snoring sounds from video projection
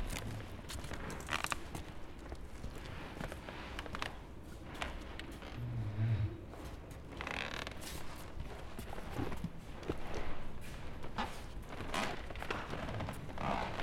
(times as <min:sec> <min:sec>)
0:05.6 0:06.5